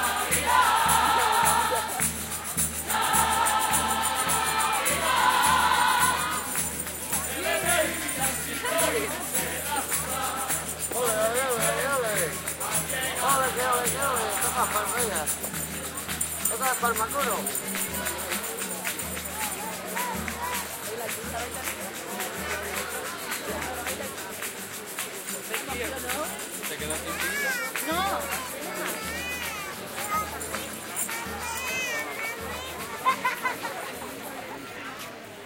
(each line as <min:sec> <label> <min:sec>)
0:00.0 christmas chorus singing in the street 0:35.4
0:00.0 other voices 0:35.4
0:00.0 percussion 0:35.4